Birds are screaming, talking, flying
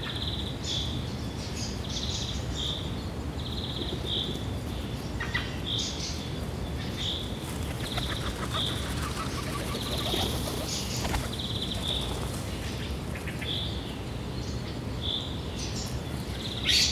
0:07.5 0:12.4

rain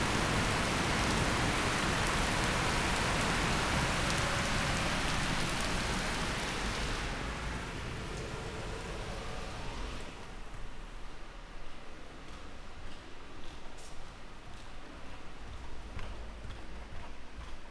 0:00.0 0:11.2

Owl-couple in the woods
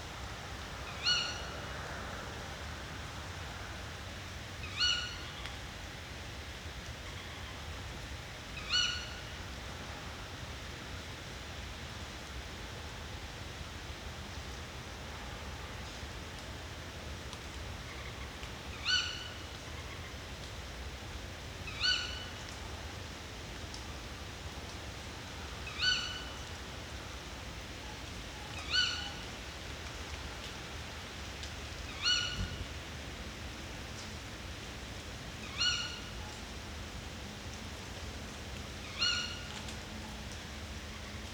0:00.9 0:01.5, 0:04.6 0:05.5, 0:08.6 0:09.2, 0:17.8 0:20.2, 0:21.7 0:22.5, 0:25.5 0:26.6, 0:28.4 0:29.3, 0:31.8 0:32.6, 0:35.4 0:36.4, 0:38.8 0:39.6

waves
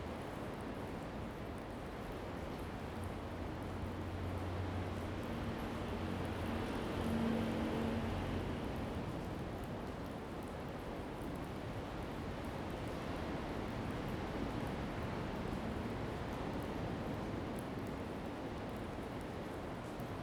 0:12.0 0:20.2

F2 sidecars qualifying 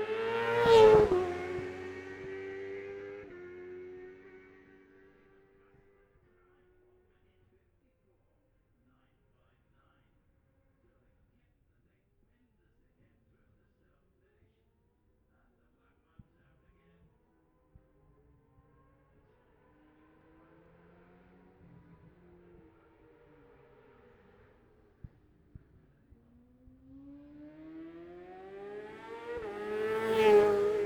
0:00.0 0:06.1, 0:18.5 0:30.8

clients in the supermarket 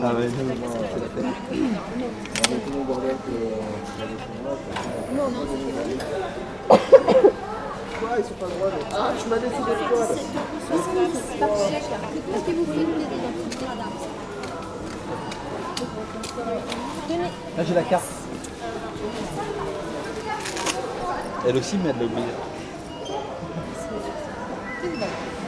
0:00.0 0:03.1, 0:13.4 0:21.7

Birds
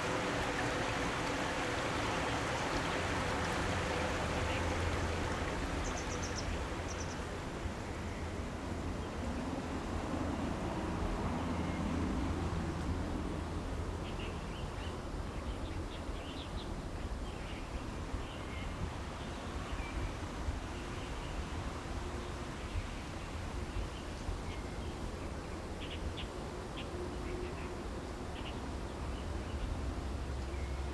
0:00.0 0:07.4

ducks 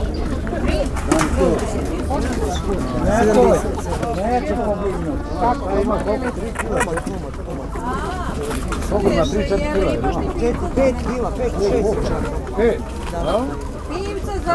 0:01.2 0:08.2

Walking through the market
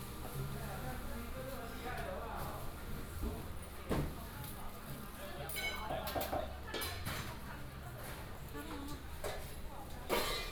0:00.0 0:05.2

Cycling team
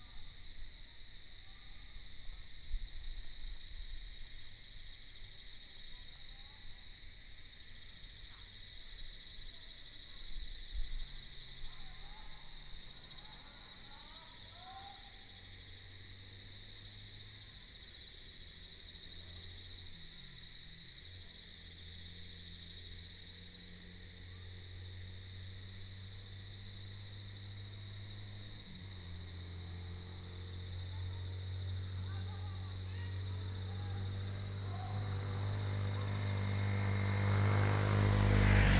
0:26.2 0:38.7

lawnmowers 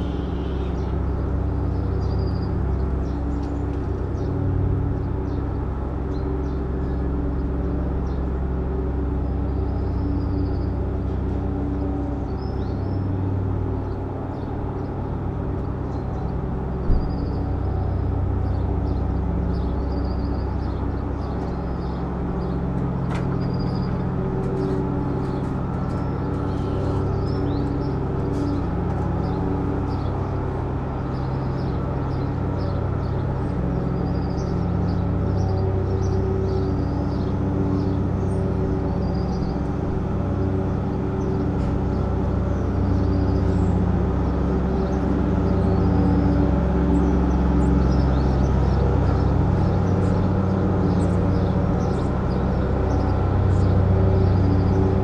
0:17.8 0:55.0

